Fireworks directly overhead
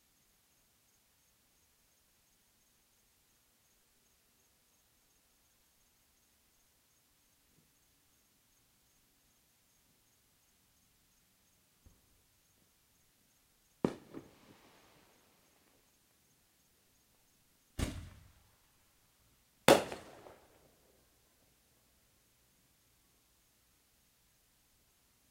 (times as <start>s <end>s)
13.8s 15.9s, 17.8s 18.5s, 19.7s 21.0s